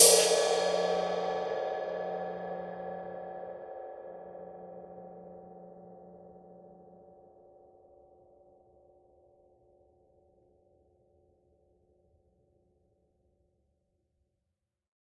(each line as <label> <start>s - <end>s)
Single hit on an old Zildjian crash cymbal 0.0s - 3.5s